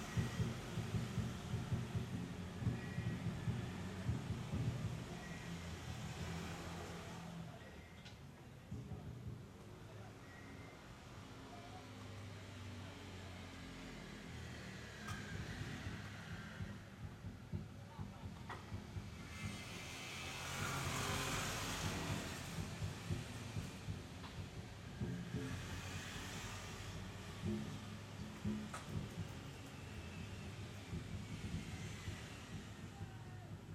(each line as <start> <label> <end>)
0.0 drums group were practicing 6.0
0.0 cars passing by 7.9
9.9 cars passing by 33.7
15.6 drums group were practicing 19.8
21.8 drums group were practicing 25.9
27.0 drums group were practicing 33.7